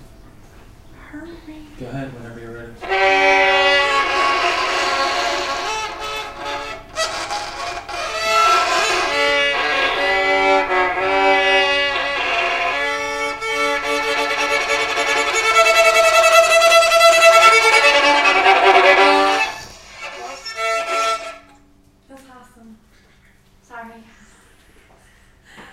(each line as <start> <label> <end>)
2.8 violin 21.6